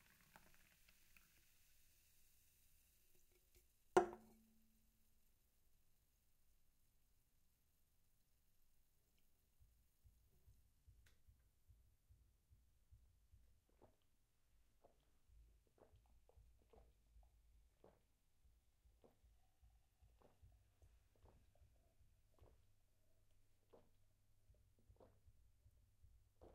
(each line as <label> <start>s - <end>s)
pouring into a glass 0.0s - 4.4s
placing the can down 4.0s - 4.4s